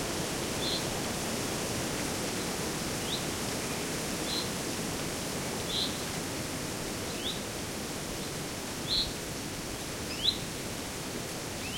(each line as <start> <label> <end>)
0.0 wind 11.7